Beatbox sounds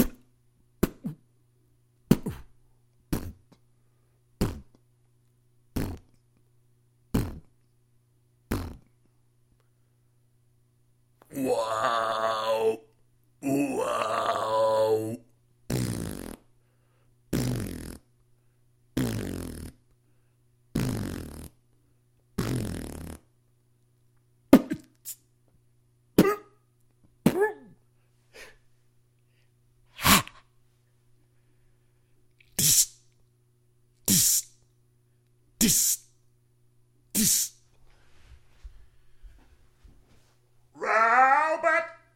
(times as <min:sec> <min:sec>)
0:00.0 0:01.3, 0:02.1 0:03.6, 0:04.4 0:04.8, 0:05.7 0:06.2, 0:07.1 0:07.6, 0:08.5 0:08.9, 0:15.7 0:16.5, 0:17.3 0:18.1, 0:19.0 0:19.8, 0:20.7 0:21.6, 0:22.4 0:23.3, 0:24.5 0:25.2, 0:26.2 0:26.4, 0:32.4 0:33.0, 0:34.0 0:34.5, 0:35.6 0:36.1, 0:37.1 0:37.6